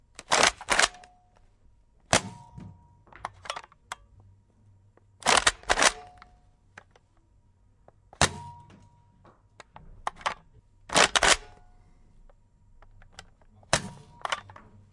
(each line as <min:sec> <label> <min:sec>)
0:00.2 Reload 0:01.1
0:02.1 Reload 0:02.5
0:05.2 Reload 0:06.3
0:08.2 Reload 0:08.6
0:10.1 Reload 0:11.7
0:13.7 Reload 0:14.5